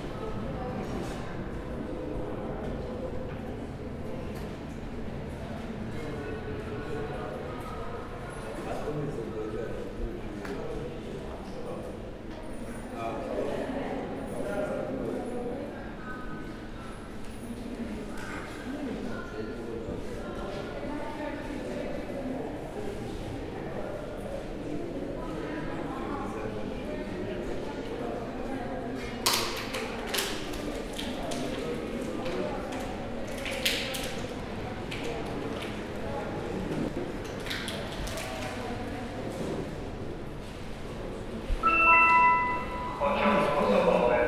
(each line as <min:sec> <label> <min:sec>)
0:38.6 travelers buying tickets 0:44.2